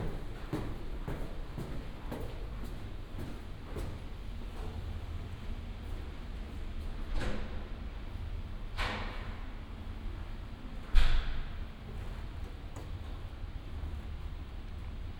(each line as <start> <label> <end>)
0.0 walking 4.9